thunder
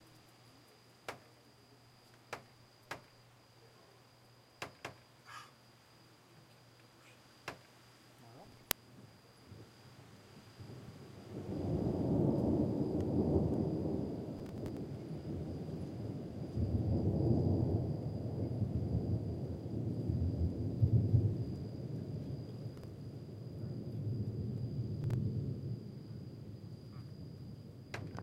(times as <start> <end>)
9.4 28.2